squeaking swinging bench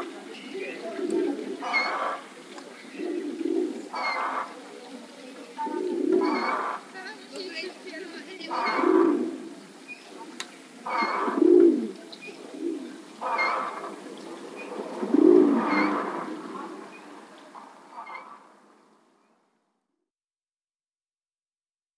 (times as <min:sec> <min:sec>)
0:06.2 0:06.8, 0:08.5 0:09.0, 0:10.9 0:11.4, 0:13.3 0:13.9, 0:17.9 0:18.4